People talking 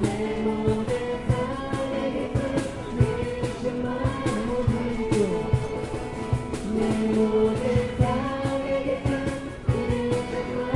4.2s 5.9s

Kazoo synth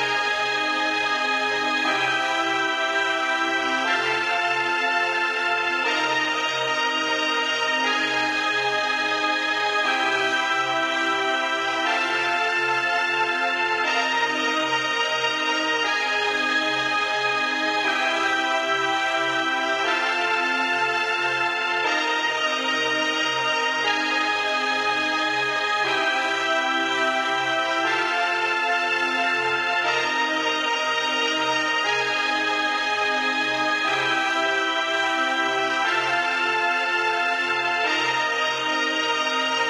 17.4s 39.6s

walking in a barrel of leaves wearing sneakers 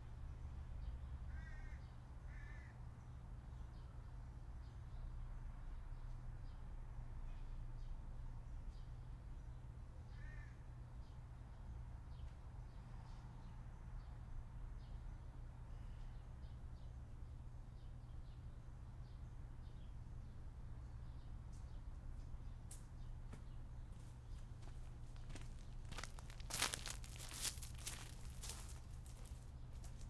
24.0s 30.0s

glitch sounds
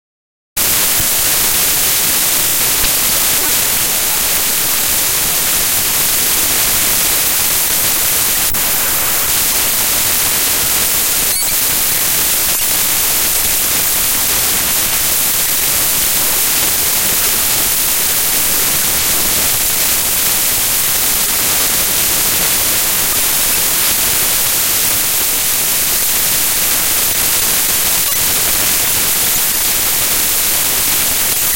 0.7s 6.2s, 6.9s 17.2s, 27.9s 28.7s

